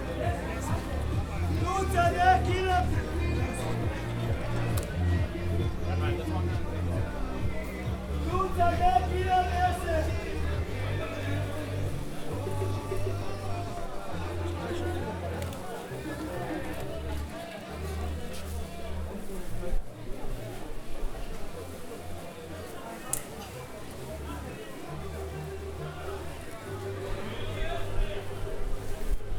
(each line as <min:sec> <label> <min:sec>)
0:00.0 roaring men 0:15.2
0:00.0 Heavy music 0:17.3
0:00.0 indoor market sounds 0:29.3